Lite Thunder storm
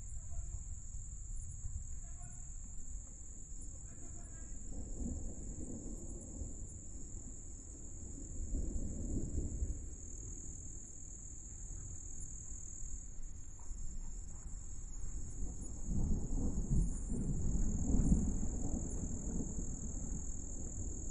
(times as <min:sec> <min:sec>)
0:04.0 0:10.6, 0:15.2 0:21.1